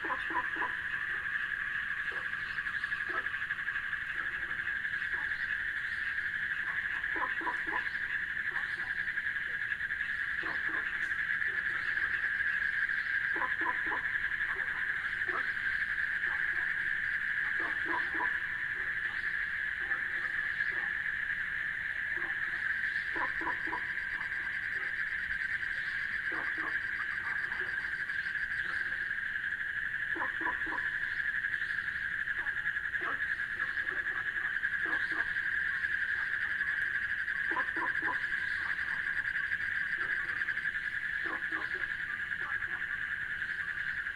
Water Pond 0:00.0 - 0:44.1
bullfrog 0:00.0 - 0:44.1
cricket 0:00.0 - 0:44.1

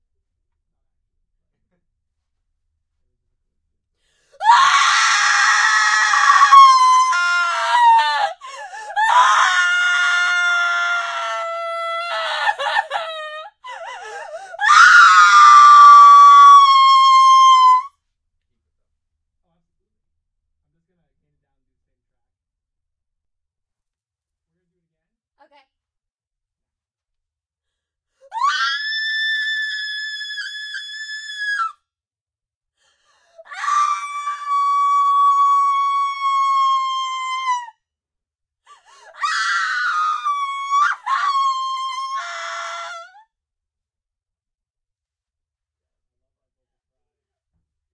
Horrified female scream 0:04.4 - 0:17.9
Horrified female scream 0:28.3 - 0:31.8
Horrified female scream 0:33.4 - 0:37.8
Horrified female scream 0:38.9 - 0:43.2

